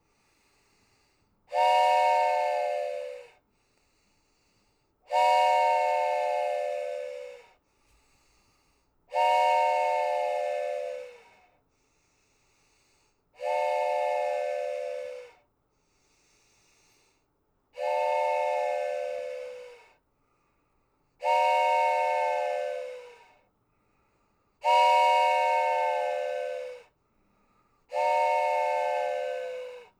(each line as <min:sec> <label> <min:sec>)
0:01.5 train whistle snoring 0:03.4
0:05.1 train whistle snoring 0:07.6
0:09.1 train whistle snoring 0:11.6
0:13.4 train whistle snoring 0:15.5
0:17.8 train whistle snoring 0:20.0
0:21.2 train whistle snoring 0:23.5
0:24.6 train whistle snoring 0:27.0
0:27.8 train whistle snoring 0:29.9